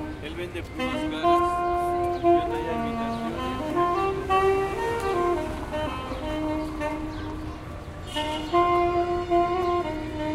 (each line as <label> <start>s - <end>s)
saxophone player playing Jazz 0.0s - 10.3s